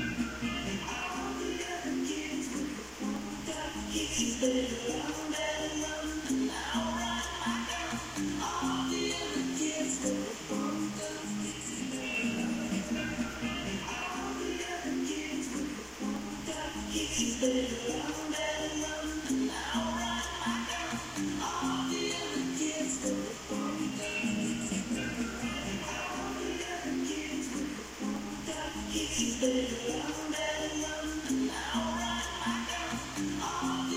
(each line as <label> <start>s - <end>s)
Music in room playing through Radio 0.0s - 33.9s